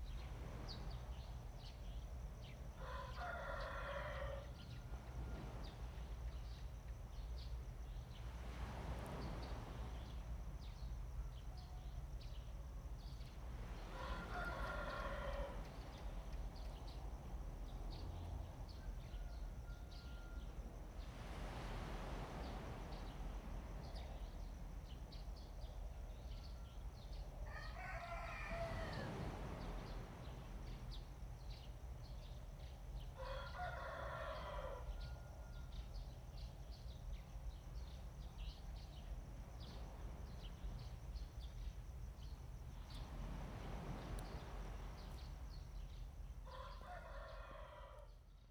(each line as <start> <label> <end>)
0.0 waves 47.1
14.0 Chicken crowing 15.6
27.5 Chicken crowing 29.2
33.2 Chicken crowing 35.6
46.5 Chicken crowing 48.1